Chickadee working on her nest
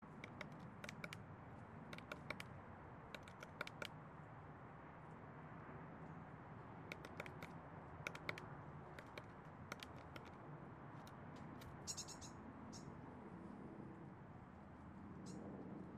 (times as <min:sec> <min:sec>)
0:00.0 0:02.5, 0:03.1 0:04.0, 0:06.8 0:10.4